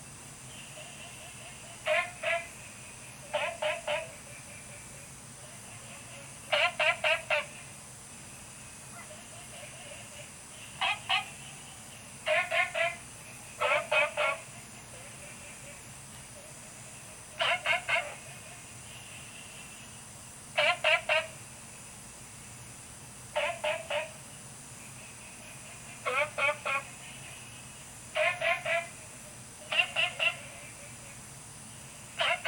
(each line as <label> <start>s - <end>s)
Frogs chirping 0.0s - 32.4s
Insects sounds 0.0s - 32.4s